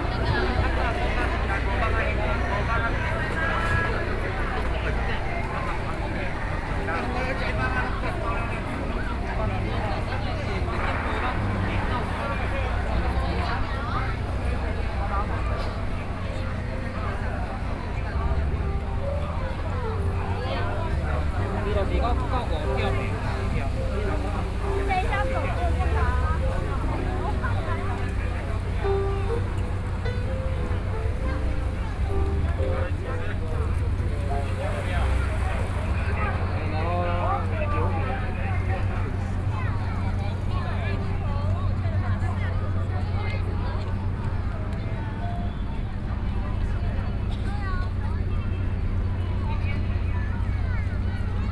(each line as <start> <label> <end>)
0.0 Square crowd of tourists 51.5